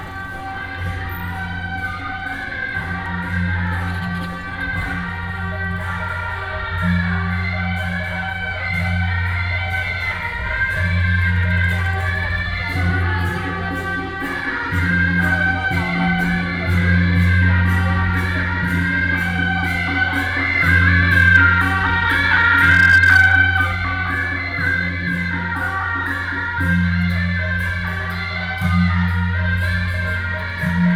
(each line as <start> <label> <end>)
0.0 Walking through the traditional market 30.9
0.0 traffic sound 30.9